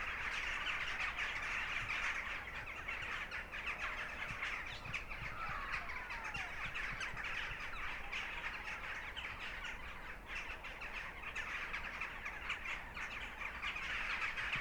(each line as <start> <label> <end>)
0.0 Thousands of jackdaws 10.2